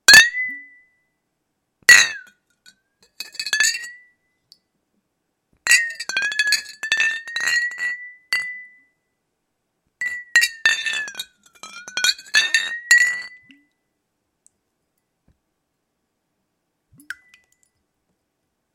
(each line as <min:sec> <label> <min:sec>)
0:05.7 sliding a empty bottle upside down through a glass of water 0:08.5
0:10.1 sliding a empty bottle upside down through a glass of water 0:13.4